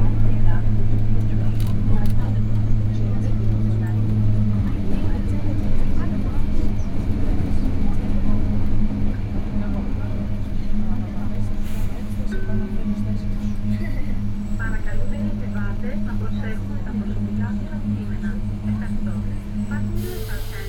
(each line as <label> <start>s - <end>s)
Metro ride 0.0s - 20.6s